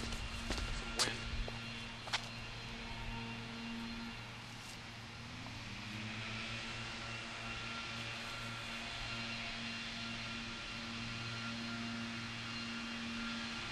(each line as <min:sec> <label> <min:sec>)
0:00.0 walking 0:05.6